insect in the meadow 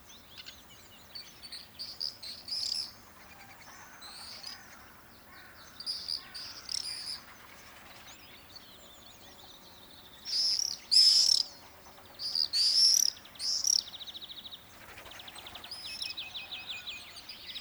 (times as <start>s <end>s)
9.6s 17.3s